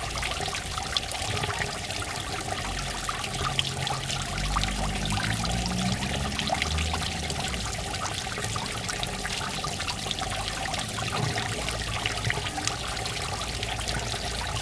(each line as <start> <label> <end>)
0.0 fountain 14.6